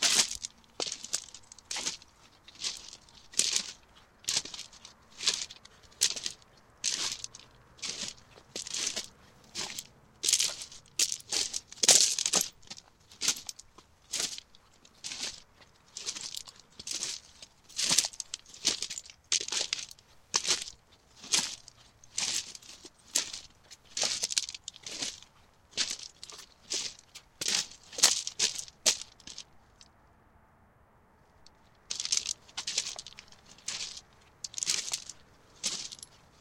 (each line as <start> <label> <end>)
0.0 footsteps on a stony gravel surface 29.5
31.9 footsteps on a stony gravel surface 36.4